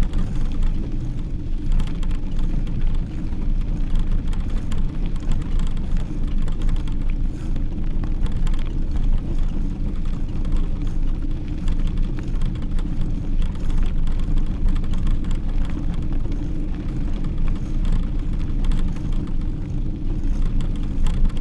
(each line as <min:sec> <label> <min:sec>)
0:00.0 cycling 0:21.4